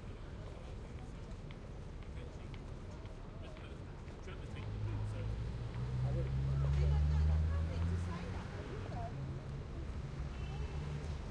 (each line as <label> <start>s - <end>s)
train 0.0s - 6.7s